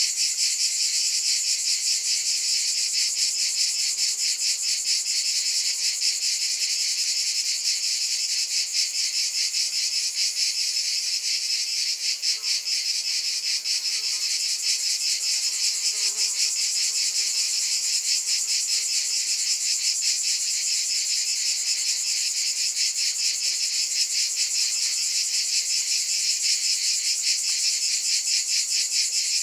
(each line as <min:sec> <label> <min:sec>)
0:00.0 cicada singing 0:29.4